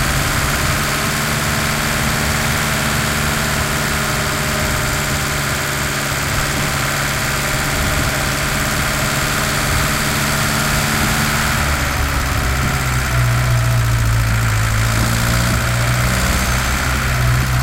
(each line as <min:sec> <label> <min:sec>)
0:00.0 diesel 0:17.6